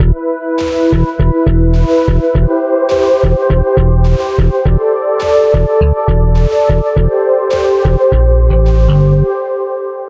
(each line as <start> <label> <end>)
0.0 bass 2.6
0.0 drums 9.1
3.2 bass 4.9
5.5 bass 7.2
7.8 bass 9.4